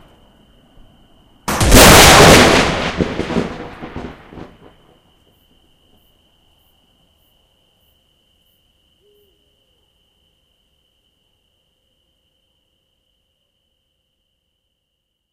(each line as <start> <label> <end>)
0.0 crickets 15.3
1.5 machine gun 4.3
1.5 explosions 4.6